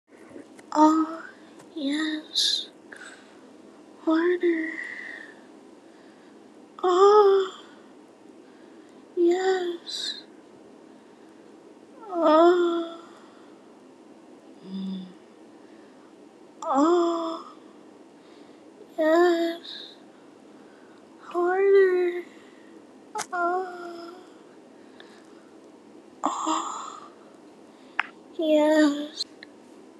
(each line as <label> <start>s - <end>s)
Orgasm 26.2s - 27.2s